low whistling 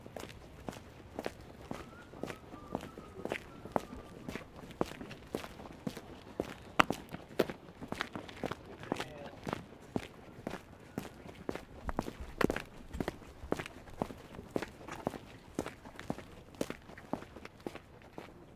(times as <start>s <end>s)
1.6s 4.7s